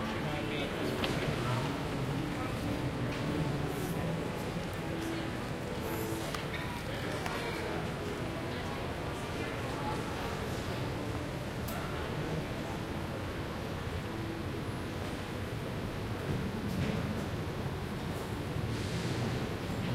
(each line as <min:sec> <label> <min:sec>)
0:00.0 lots of people around 0:19.9
0:00.0 piano 0:19.9
0:14.4 airplane 0:19.9